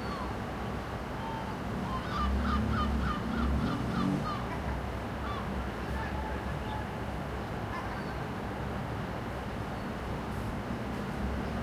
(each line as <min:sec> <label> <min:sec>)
0:01.6 car 0:06.1
0:01.7 motorbike 0:05.0